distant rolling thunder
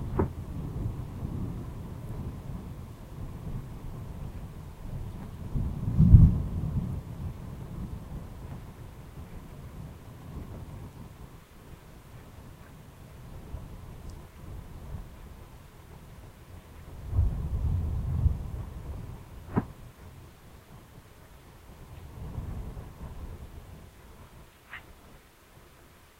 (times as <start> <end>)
0.0 12.5, 13.3 20.2